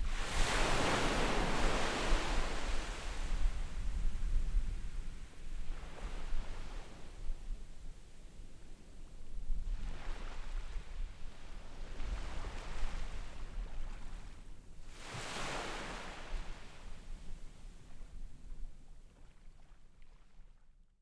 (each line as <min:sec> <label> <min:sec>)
0:00.0 waves 0:20.6